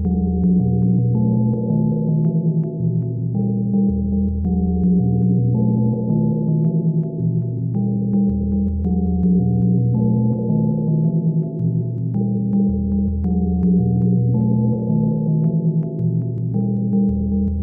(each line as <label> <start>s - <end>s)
synthesizer 0.0s - 17.6s